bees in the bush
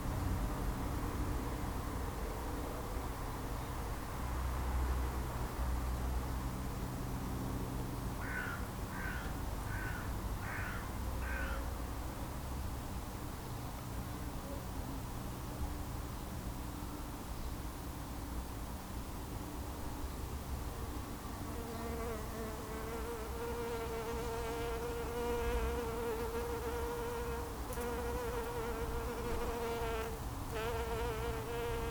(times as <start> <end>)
20.8 31.9